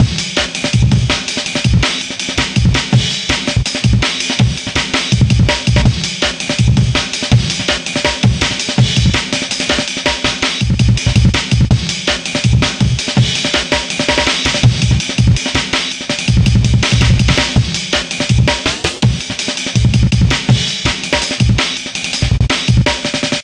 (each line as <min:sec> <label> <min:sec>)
0:16.8 amen break mashed 0:17.6